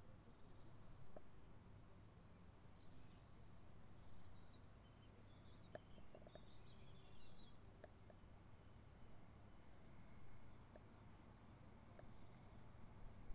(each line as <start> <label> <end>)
2.2 birds 13.3